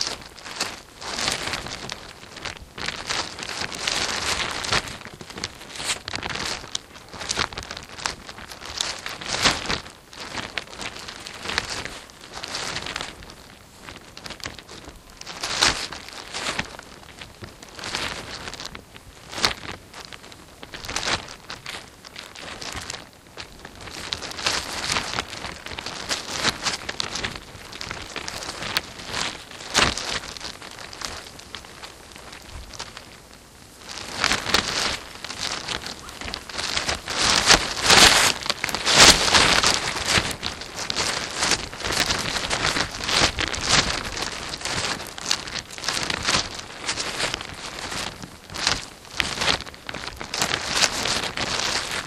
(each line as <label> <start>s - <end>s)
polythene windbreak shifting in the wind 0.0s - 52.0s